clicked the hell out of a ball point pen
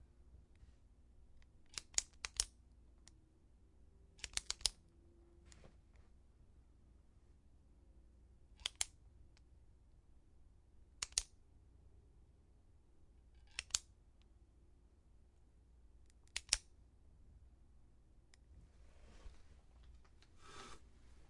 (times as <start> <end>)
1.7 2.5, 4.2 4.8, 8.6 9.0, 11.0 11.3, 13.4 13.9, 16.1 16.7